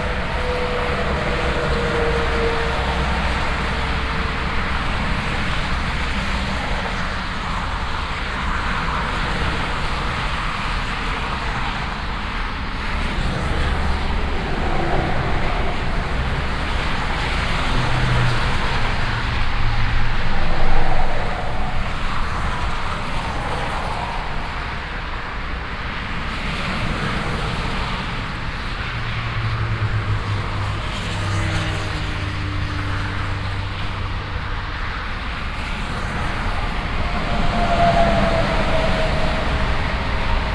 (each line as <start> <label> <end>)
0.0 traffic on highway 40.5